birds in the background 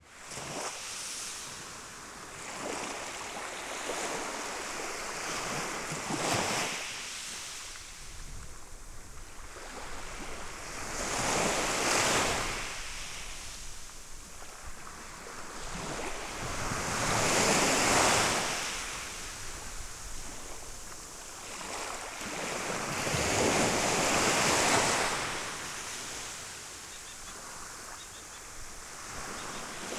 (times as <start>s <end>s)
25.8s 28.6s, 29.2s 29.9s